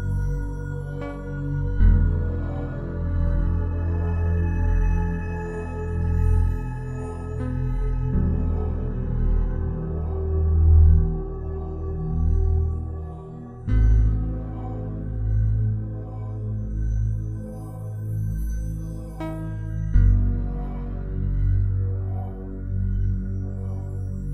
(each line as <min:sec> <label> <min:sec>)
0:00.0 synthesizer 0:24.3